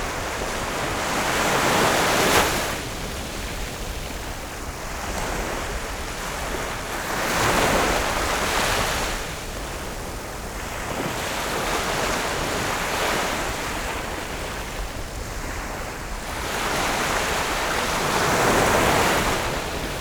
waves 0.0 - 20.0

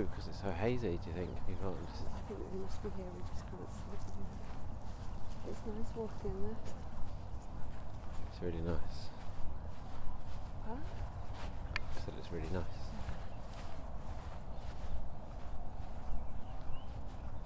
dog walk 0.0 - 17.4

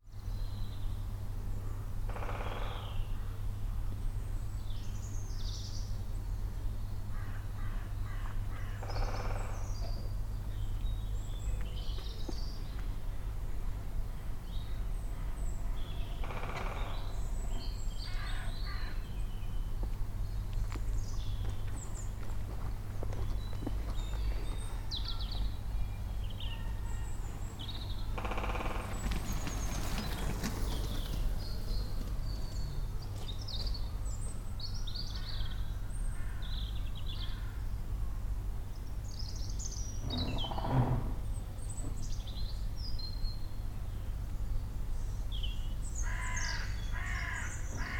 many other birds 0.0 - 38.1
traffic 0.1 - 47.9
Woodpecker 2.1 - 3.2
Crows 2.1 - 3.3
Crows 7.1 - 9.9
Woodpecker 8.6 - 10.0
Woodpecker 16.2 - 17.2
occasional cyclist or walker 17.5 - 25.8
Crows 18.0 - 19.0
occasional cyclist or walker 26.4 - 34.4
Woodpecker 27.7 - 32.1
many other birds 38.7 - 47.9
Woodpecker 40.0 - 41.2
Crows 46.0 - 47.9

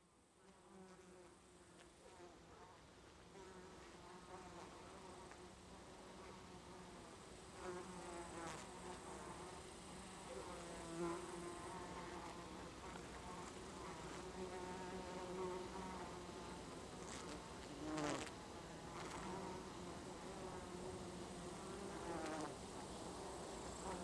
bees in thymes 0.0 - 24.0

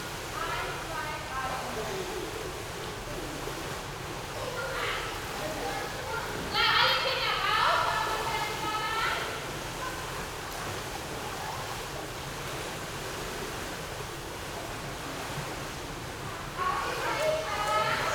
school kids 4.3 - 11.9
school kids 16.2 - 18.1

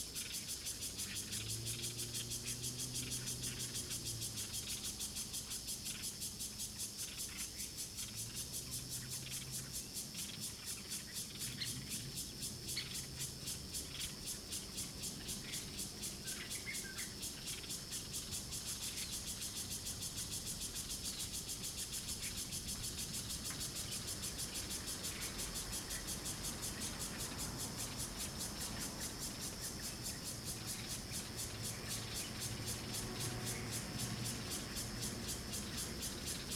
Cicadas sound 0.0 - 36.5
Traffic Sound 25.0 - 36.5

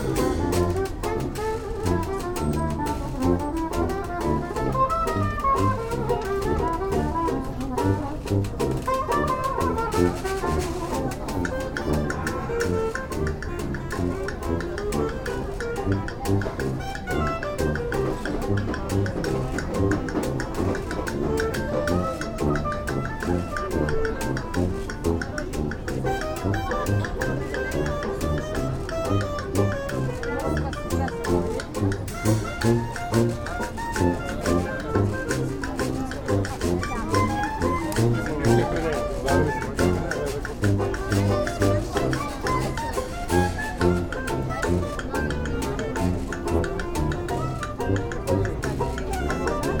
banjo player 0.0 - 49.8
chatter of an informal gathering 0.0 - 49.8
clarinetist 0.0 - 49.8
jazz saxophonist 0.0 - 49.8
tuba-player 0.0 - 49.8
traffic 12.8 - 16.2
traffic 31.5 - 49.6

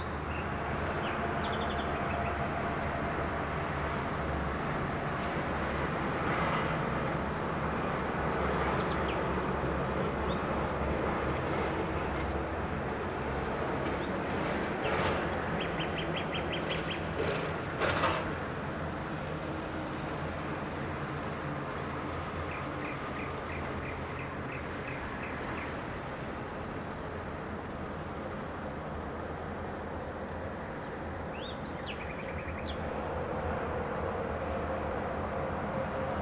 traffic noise 0.0 - 36.2

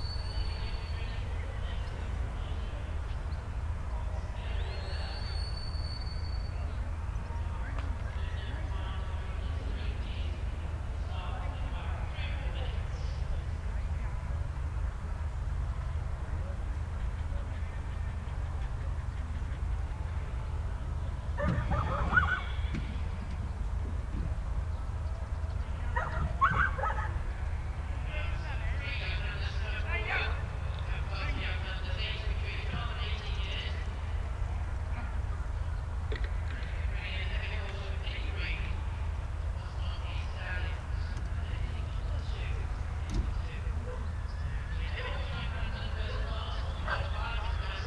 Sheepdog trials 21.4 - 23.0
Sheepdog trials 25.9 - 27.2

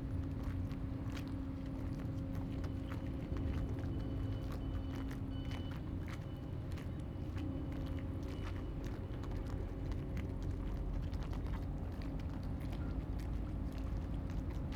Tide 0.0 - 14.7

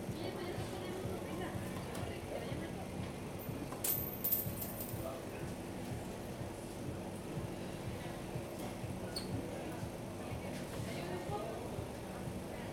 Women chatting at a nearby ice cream stand 0.0 - 4.0
Women chatting at a nearby ice cream stand 5.1 - 12.7

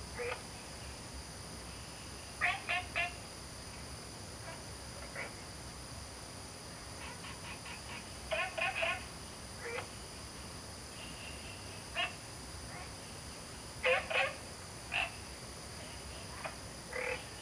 Frog calls 2.4 - 3.2
Frog calls 7.0 - 9.9
Frog calls 11.1 - 12.9
Frog calls 13.8 - 15.2
Frog calls 16.2 - 17.4

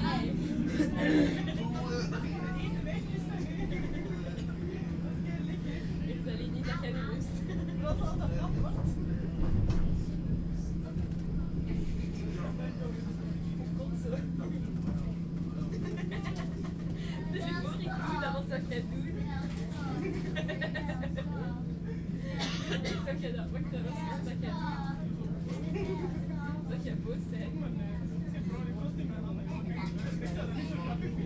driving with tram 3.6 - 15.5

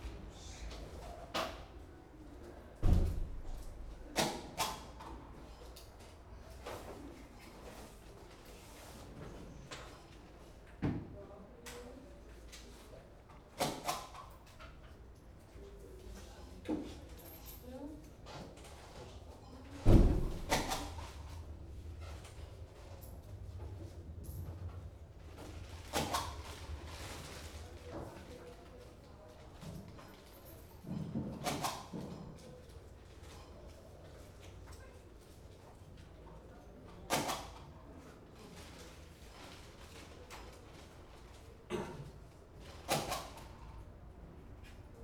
business customers clearing customs and picking up their parcels 0.0 - 45.0

